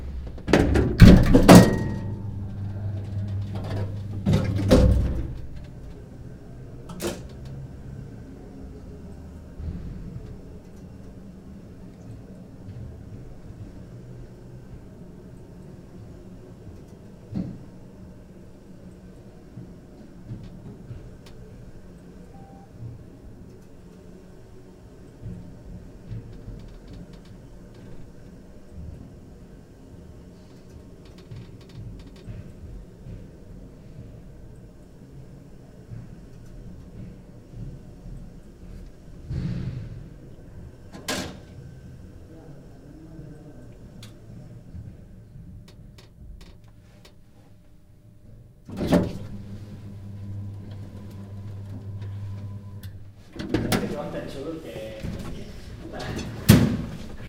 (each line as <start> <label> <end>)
0.0 elevator 8.4
15.5 elevator 42.3
48.6 elevator 57.2